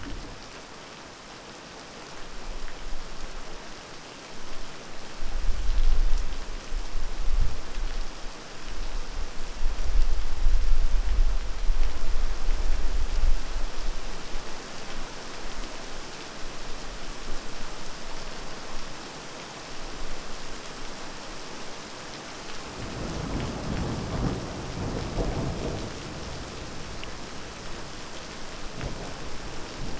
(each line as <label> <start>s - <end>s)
Heavy rain on tarmac 0.0s - 29.9s
thunder 22.8s - 26.9s